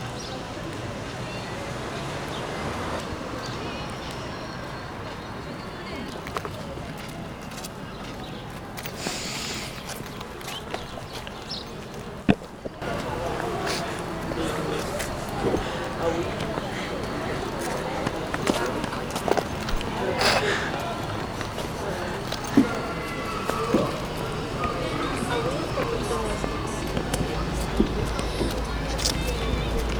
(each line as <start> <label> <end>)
0.0 Bus 29.9
0.0 Humans 29.9
0.0 Cars 5.0
8.2 Birds 29.9
12.8 Cars 29.9